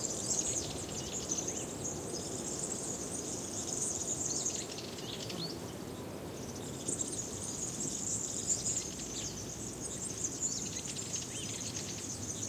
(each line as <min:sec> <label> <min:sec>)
0:00.0 insects 0:12.4
0:00.0 wind on trees 0:12.4